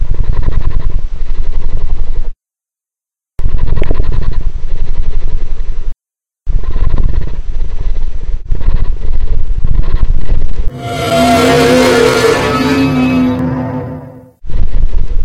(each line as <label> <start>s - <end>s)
beast growls and then roars 10.7s - 14.3s